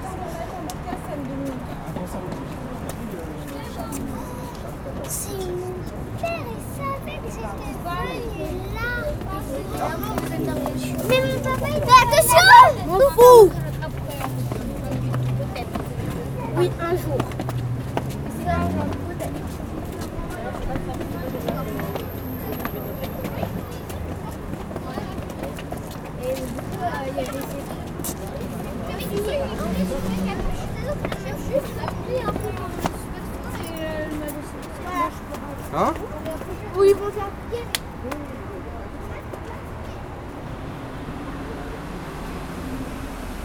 0.0s group of children is climbing the stairs 42.2s
0.0s people is going inside 43.4s

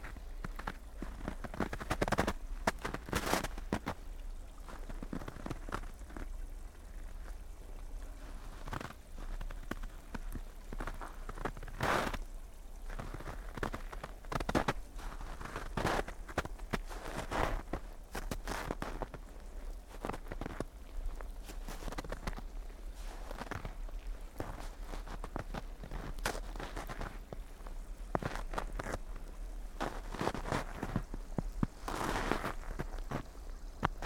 0.0s snow 34.0s
0.0s stream 34.0s
12.9s steps 19.2s
20.0s steps 34.0s

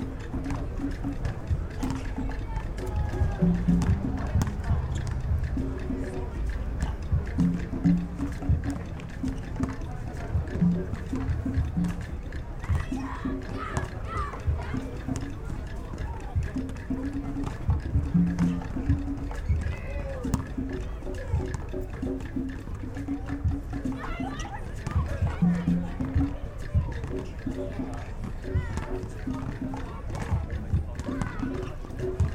0.0s African percussion 32.3s
3.4s basketball 5.5s
18.1s basketball 20.5s

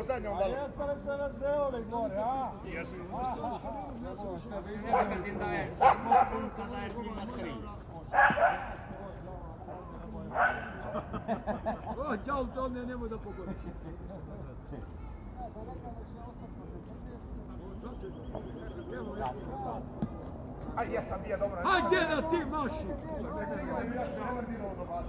4.8s Big dogs play in the background 12.0s

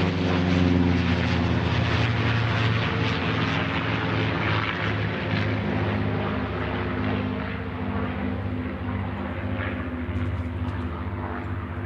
0.0s Distant leaf blowers 11.8s
0.0s World War Two-era prop airplanes 11.8s

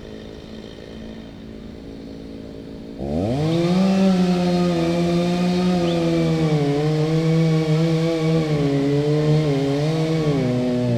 2.9s wood cutting with a chainsaw 10.9s

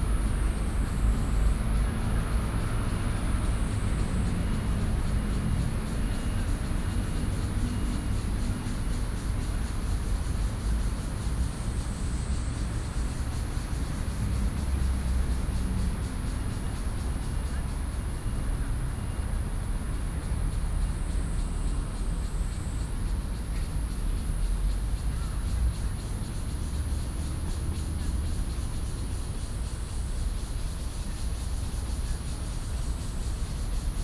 0.0s Cicadas cry 34.0s
0.0s Traffic Sound 34.0s

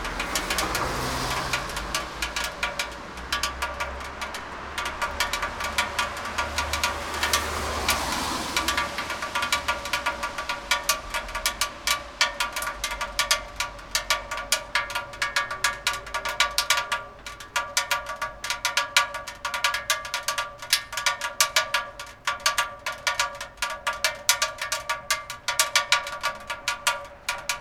0.0s rain drop, one after another, quickly 27.6s

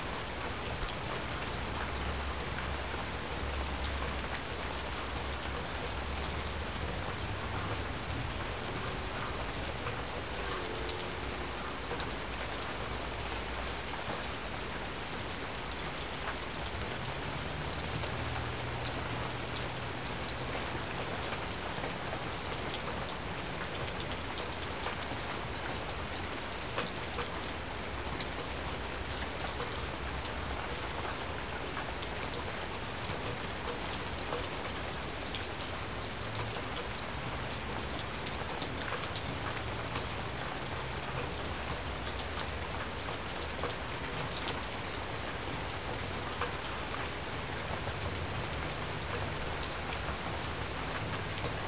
0.0s Rain falling on the trees, deck and ground 51.6s
0.1s water in the gutters overcomes the pine needles 51.6s
9.5s Train 14.2s
10.4s ferry horn 11.6s

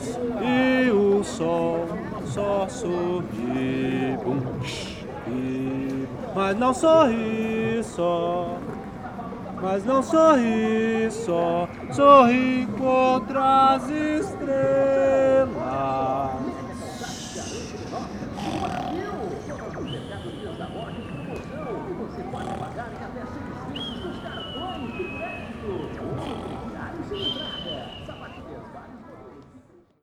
16.4s stores announced products and promotions from amplifiers 28.5s

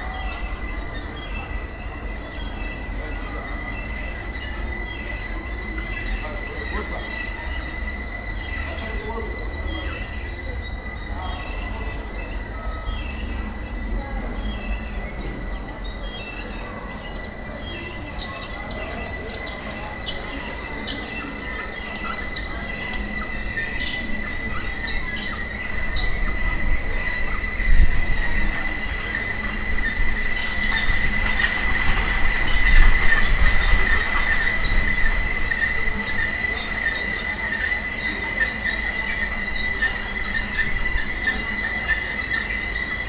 18.1s wind rattles 43.0s

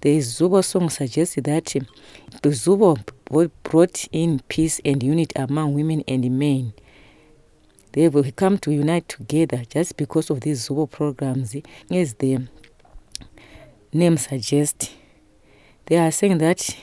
0.0s summary translation in English 6.8s
7.9s summary translation in English 12.6s
13.9s summary translation in English 15.1s
15.8s summary translation in English 16.8s

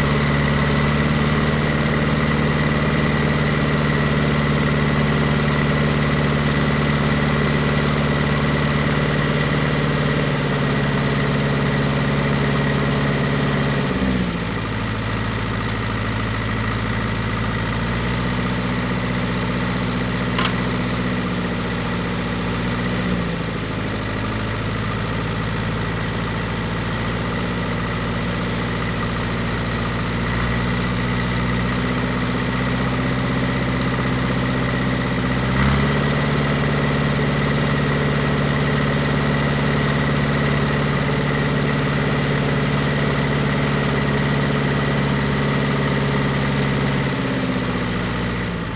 0.0s tractor 48.7s
20.3s gathering some cut down branches into a trailer 20.9s

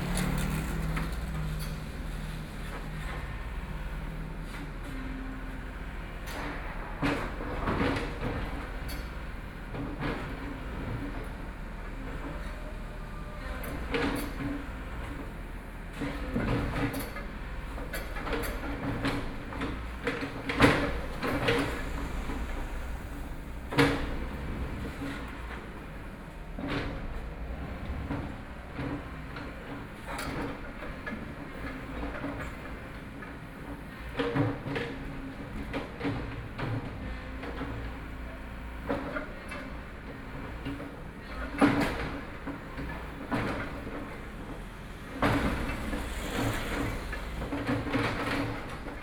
0.0s Traffic Sound 34.3s
6.9s Construction Sound 32.2s
36.2s Traffic Sound 49.0s

